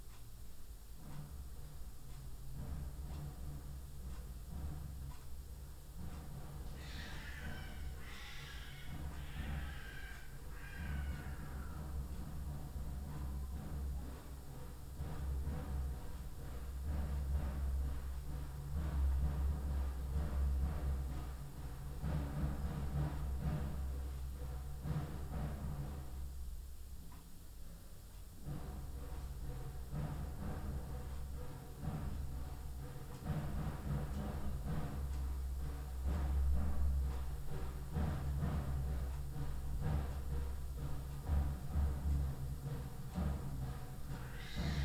Ramadan wake-up drum-call 0:04.3 - 0:15.9
Ramadan wake-up drum-call 0:28.7 - 0:44.8

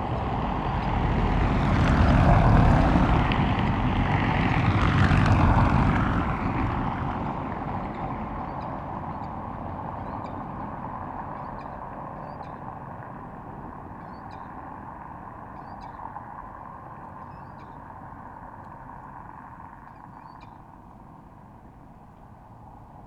vehicles on a cobbled road 0:00.0 - 0:23.0

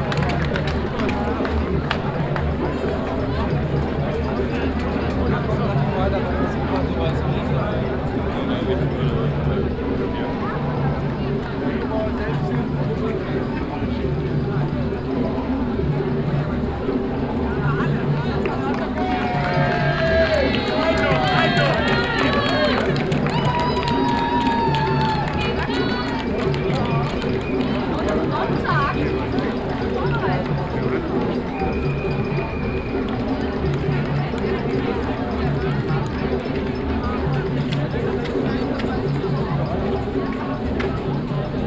passengers speaking and encouraging the runners 0:00.0 - 0:41.6

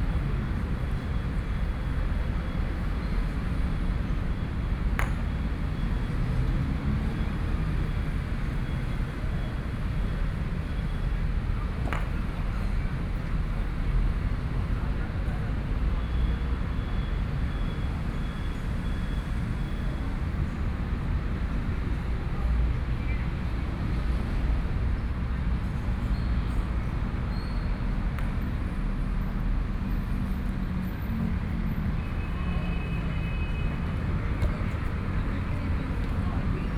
playing croquet 0:05.0 - 0:05.3

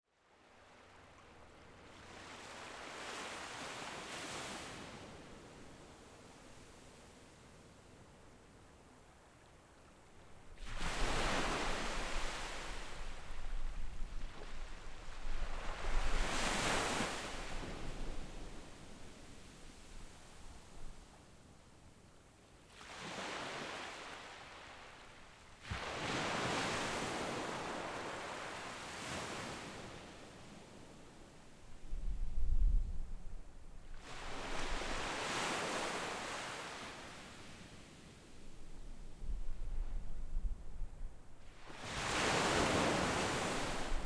waves 0:00.2 - 0:44.0

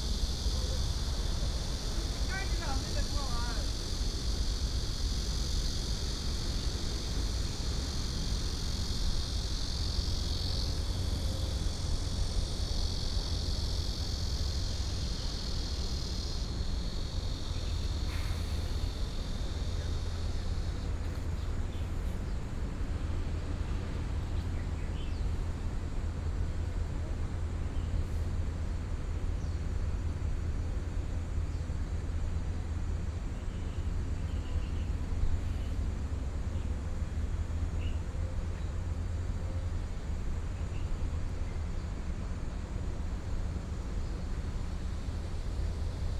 Traffic Sound 0:00.0 - 0:22.3
Cicadas sound 0:00.0 - 0:46.1

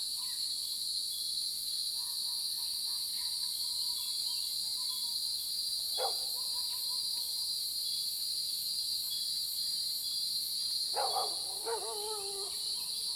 Cicadas sound 0:08.1 - 0:13.1
Dogs barking 0:11.0 - 0:12.6

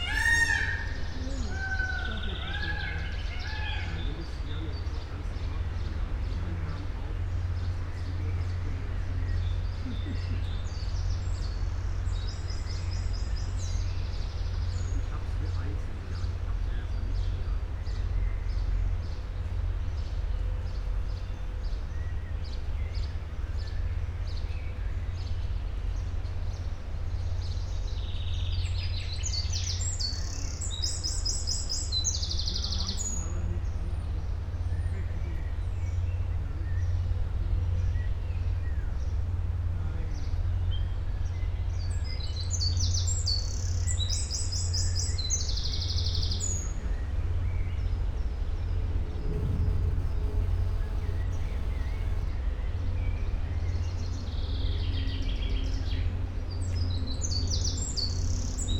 cocks 0:00.0 - 0:03.9
peacocks 0:00.0 - 0:06.5

